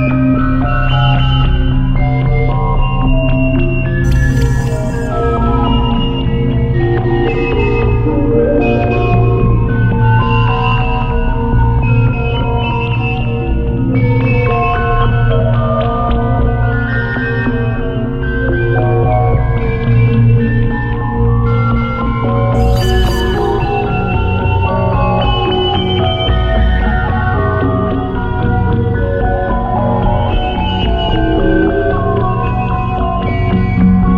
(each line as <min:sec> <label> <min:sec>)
0:00.0 dark ambient composition 0:34.1